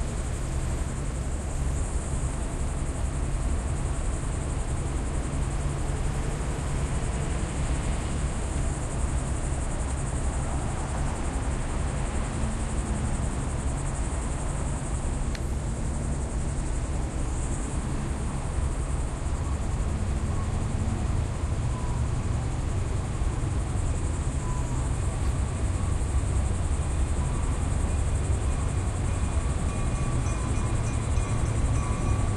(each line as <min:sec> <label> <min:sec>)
0:00.0 Tri-rail train passing through intersection 0:32.3
0:00.0 traffic 0:32.3